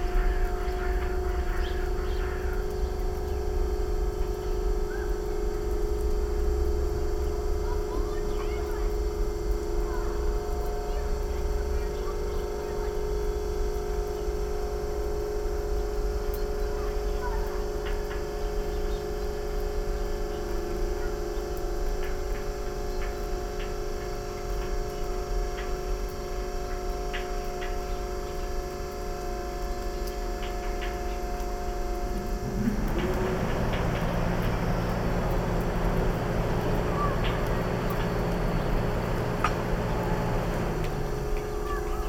0.0s conditioner 42.0s

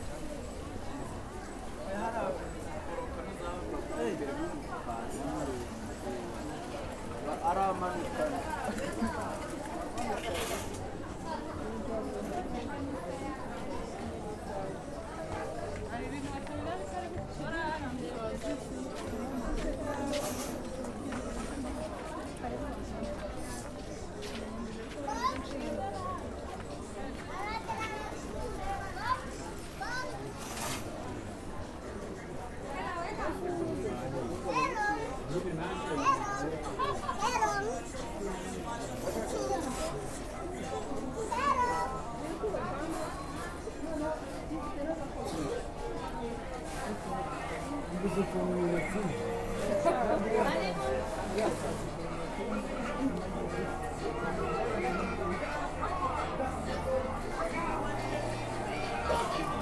0.0s voices 59.6s
24.8s children 30.9s
34.0s children 44.2s

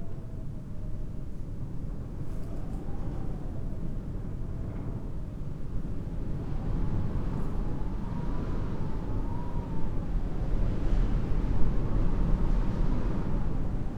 0.0s wind at the altar 13.9s

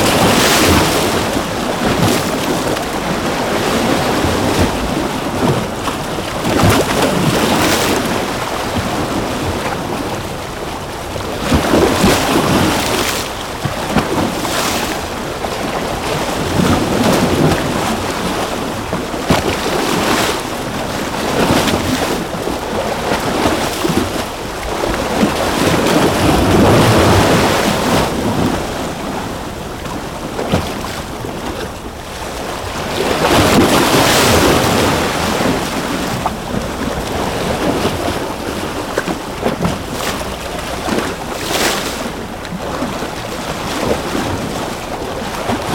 0.0s Waves crashing on some concrete rocks 45.7s

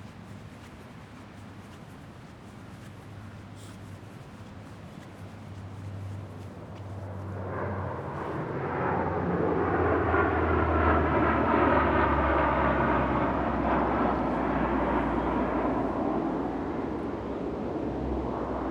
6.0s C-130 makes a low pass 18.7s

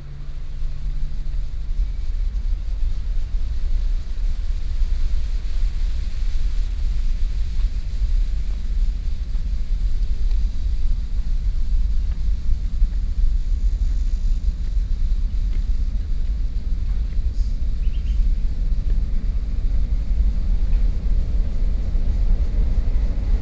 0.0s high-speed train traveling out from the tunnel 23.4s
16.8s Birds 23.2s

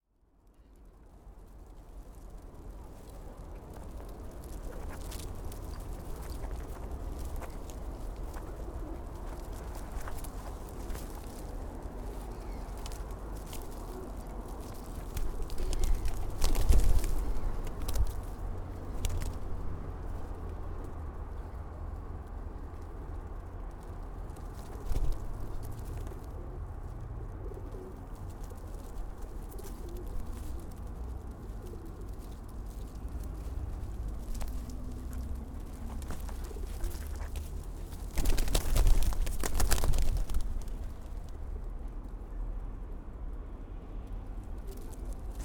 0.8s pigeons feeding 42.4s
2.3s pigeon footfalls 21.0s
27.4s pigeon footfalls 41.4s

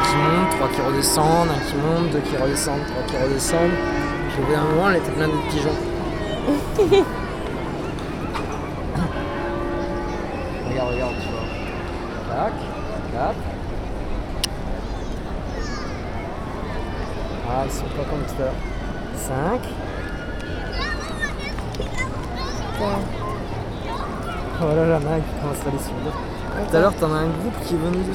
0.0s bells of san marco place 28.1s

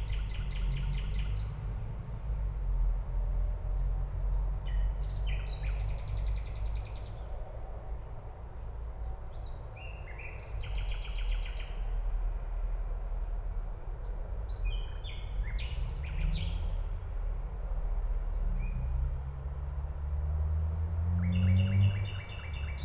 10.2s distant traffic noise 22.8s

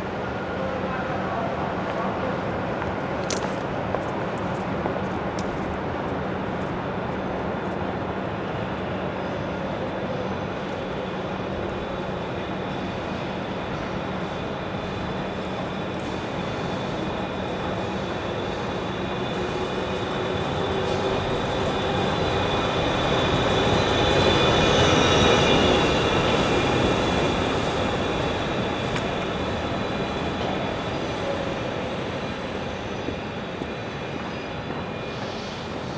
0.0s Commuters transferring on and off and between busses 35.9s

